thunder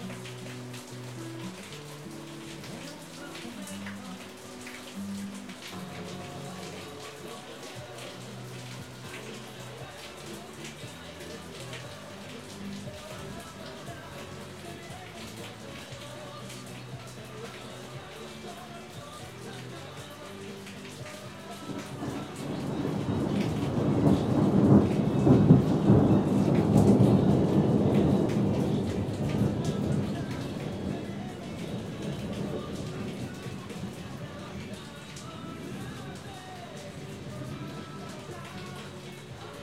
22.0 33.9

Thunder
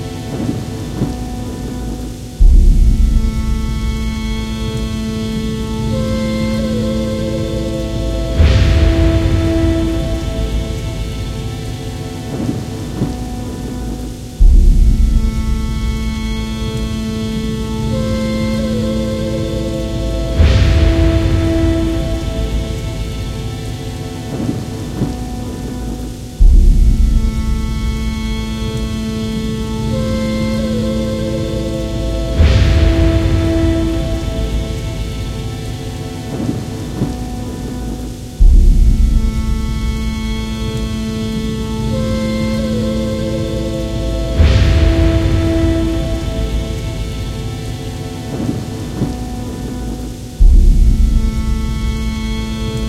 8.3 11.7, 20.3 28.5, 32.3 35.6, 44.4 47.4

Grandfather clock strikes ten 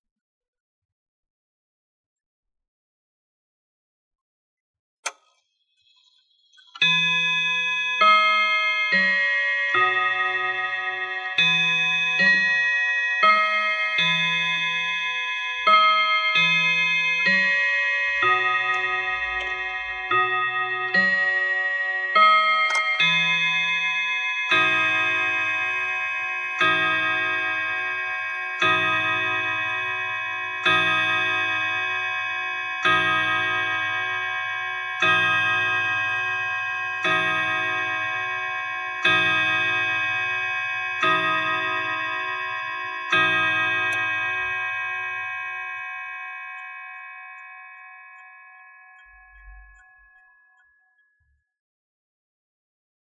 18.1 21.4, 22.2 23.4

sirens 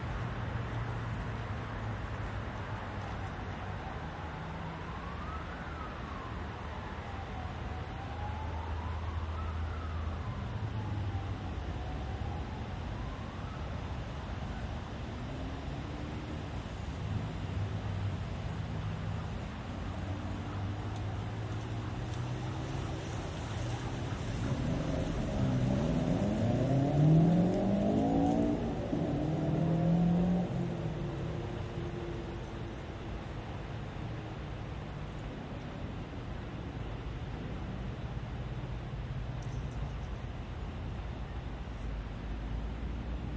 3.0 16.4, 19.2 34.5

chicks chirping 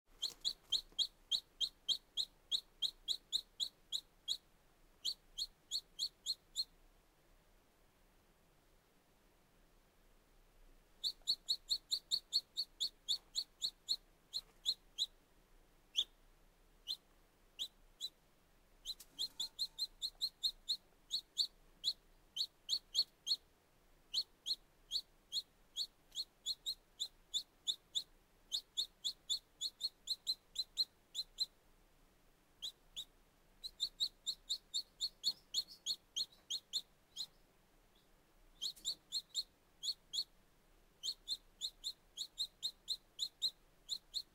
0.1 6.8, 11.0 15.2, 15.9 16.2, 16.8 17.0, 17.6 18.2, 18.8 23.4, 24.1 31.6, 32.6 40.3, 41.0 44.3

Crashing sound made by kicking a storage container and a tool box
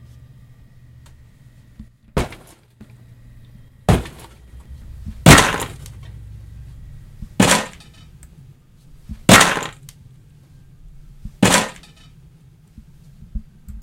2.1 2.7, 3.9 4.4, 5.2 5.8, 7.4 8.0, 9.1 9.8, 11.4 12.1

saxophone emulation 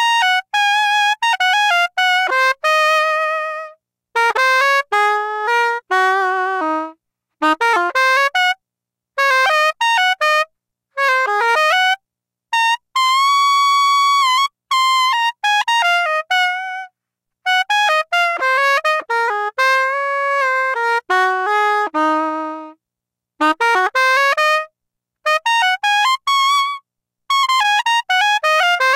17.5 22.8, 23.4 28.9

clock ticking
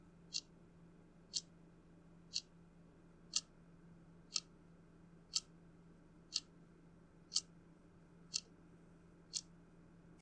0.3 0.5, 1.3 1.5, 2.3 2.5, 3.3 3.5, 4.3 4.5, 5.3 5.5, 6.3 6.5, 7.3 7.5, 8.3 8.5, 9.3 9.5

